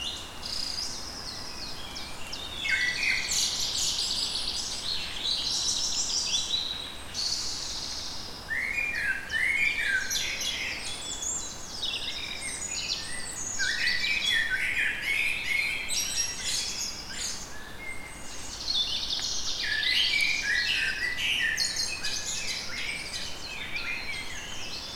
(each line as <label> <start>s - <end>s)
Morning birds 0.0s - 24.9s